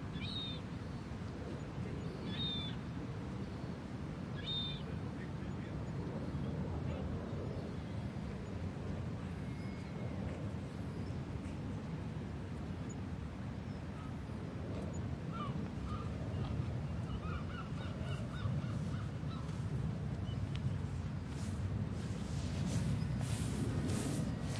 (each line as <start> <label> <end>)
0.0 wind 24.5
12.8 birds 21.1
18.2 people passing from the left to the right 24.5